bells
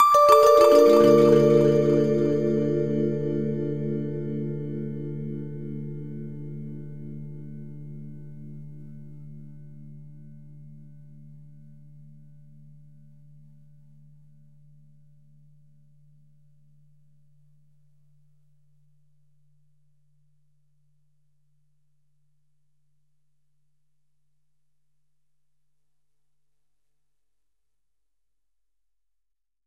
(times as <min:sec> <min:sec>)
0:00.0 0:05.2